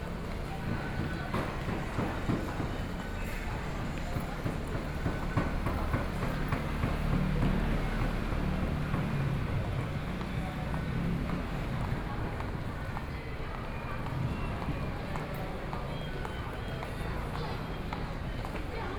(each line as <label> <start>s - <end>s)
The crowd 0.0s - 18.9s
Traffic Noise 0.0s - 18.9s
train tracks running through 0.0s - 18.9s